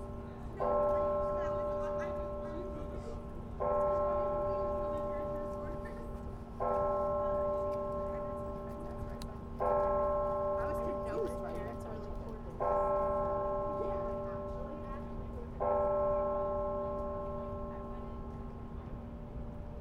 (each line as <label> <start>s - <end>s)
Haas Bell Tower 0.0s - 19.8s